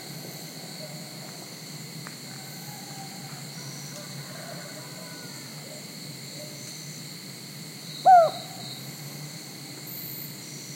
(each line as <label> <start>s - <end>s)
cicadas 0.0s - 10.7s
rooster 2.3s - 5.8s
unknown bird (seems like cuckoo) 8.0s - 8.6s